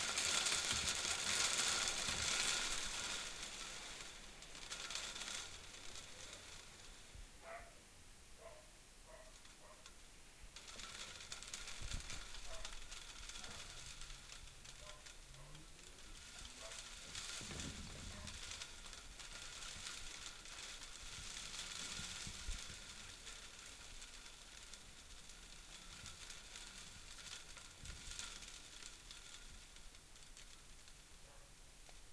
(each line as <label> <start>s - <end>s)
rain 0.0s - 32.1s